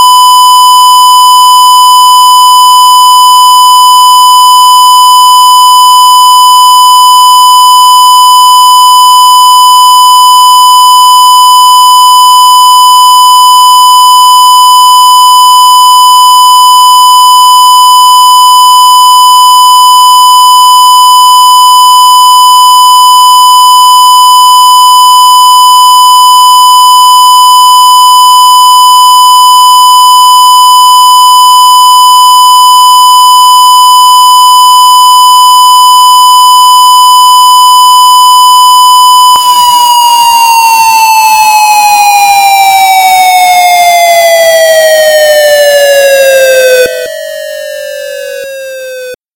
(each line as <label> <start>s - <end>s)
Outdoor Sirens during a Tornado Warning 39.4s - 49.2s